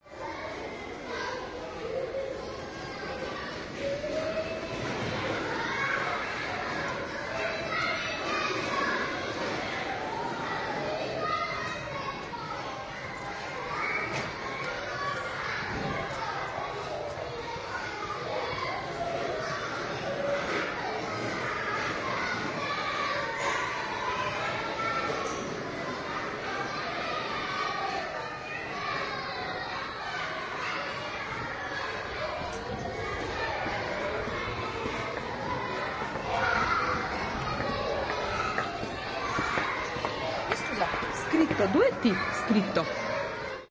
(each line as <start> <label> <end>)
0.0 children 43.7